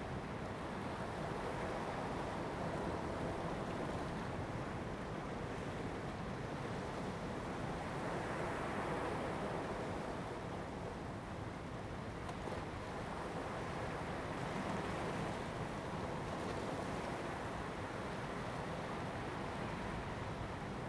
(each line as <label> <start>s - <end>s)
waves 12.0s - 20.8s